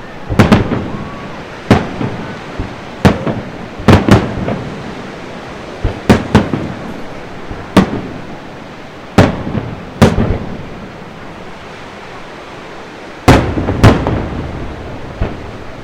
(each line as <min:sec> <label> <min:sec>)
0:00.0 crowds 0:04.6
0:00.0 Waves on the beach 0:15.8
0:00.0 firework display 0:15.8